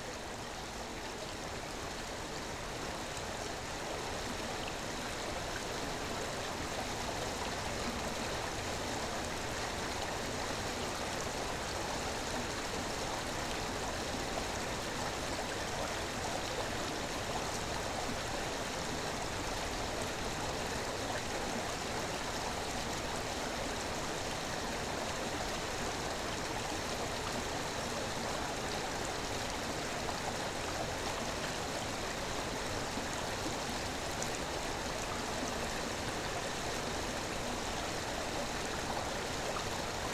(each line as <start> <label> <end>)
0.0 small river Viesa under the bridge 40.1